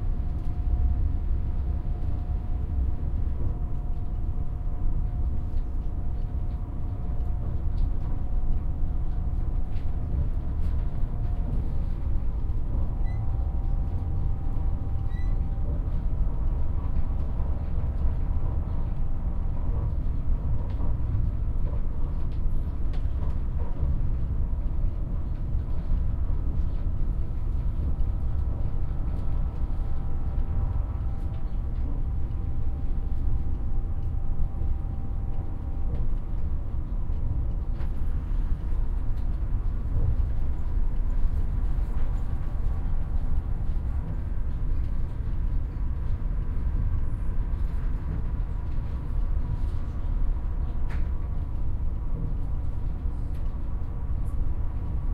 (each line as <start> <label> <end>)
0.0 train journey 55.1